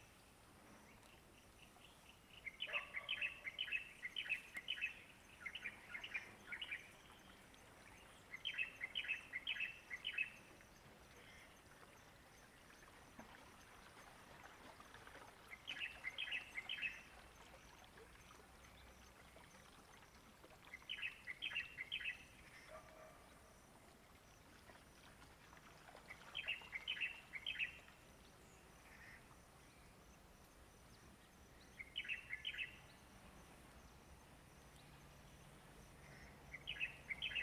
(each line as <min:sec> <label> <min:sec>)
0:02.6 Dog barking 0:03.4
0:22.7 Dog barking 0:23.3